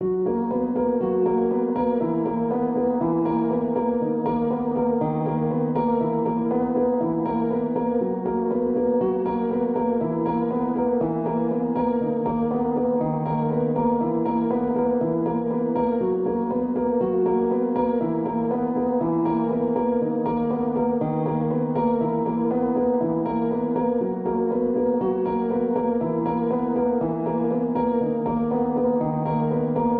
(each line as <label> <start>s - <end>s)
piano 0.0s - 29.9s